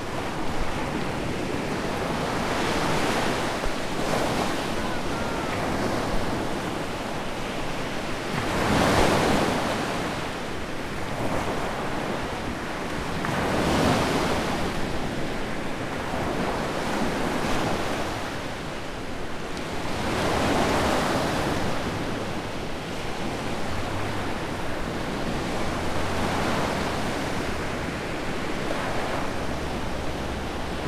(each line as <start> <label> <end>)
3.9 Sea Sounds 6.7